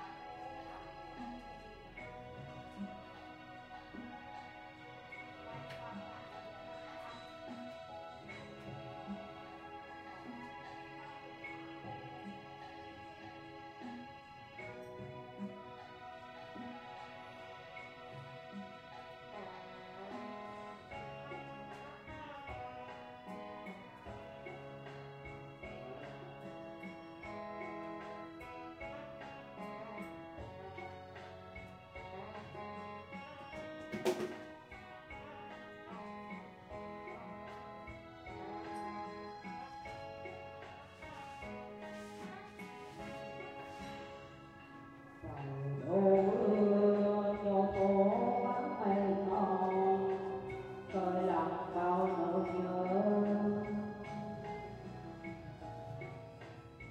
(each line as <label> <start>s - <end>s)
male voice singing really off-key karaoke 0.0s - 55.7s